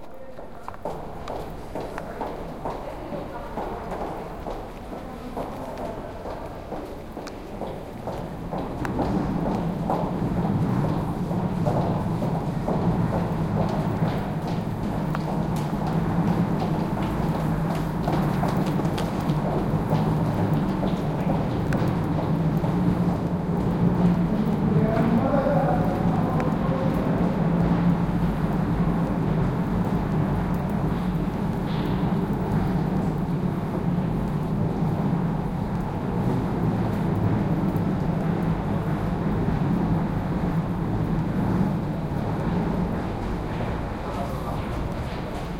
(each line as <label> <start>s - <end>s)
steps 0.0s - 24.1s